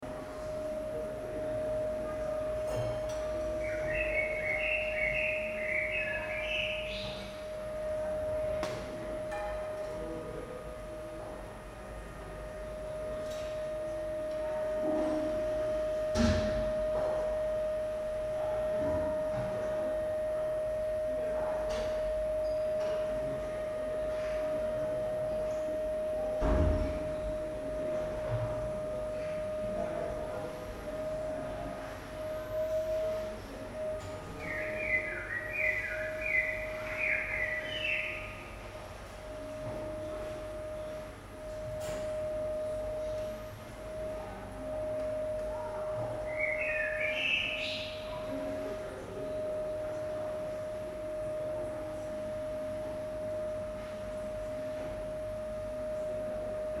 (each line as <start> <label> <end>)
0.0 people 56.8
3.0 birds 7.6
34.0 birds 38.8
46.1 birds 48.7